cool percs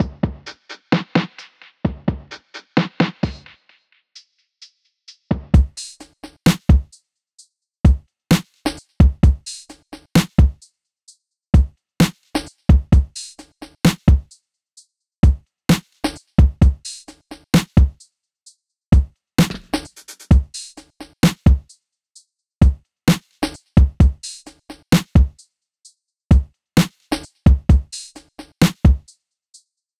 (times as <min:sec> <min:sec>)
0:19.0 0:20.5